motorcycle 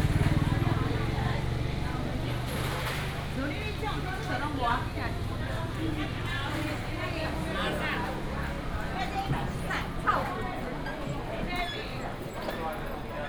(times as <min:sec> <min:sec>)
0:00.0 0:09.8